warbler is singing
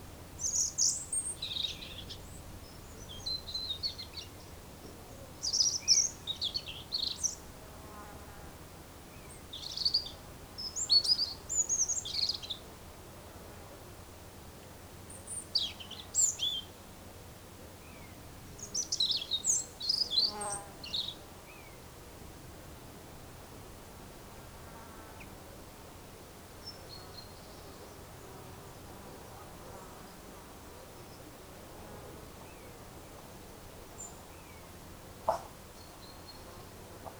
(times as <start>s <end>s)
0.4s 4.4s